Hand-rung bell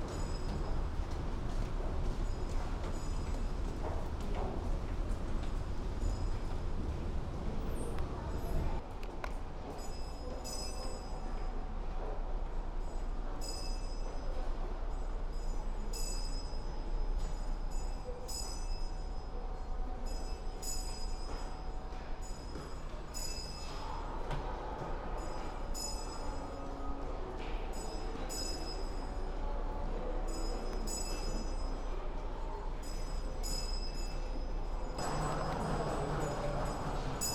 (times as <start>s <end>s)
0.0s 0.8s, 9.8s 11.4s, 12.8s 14.4s, 15.0s 24.1s, 25.1s 26.8s, 27.7s 29.3s, 30.3s 32.0s, 32.8s 37.3s